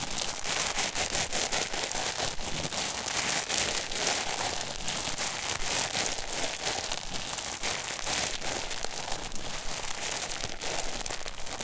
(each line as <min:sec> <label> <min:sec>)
0:00.0 Plastic bag 0:11.6